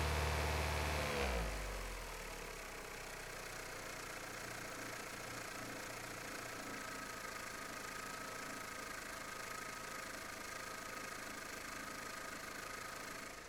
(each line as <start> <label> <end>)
0.0 Car Engine Ignition Running and Turn Off 13.4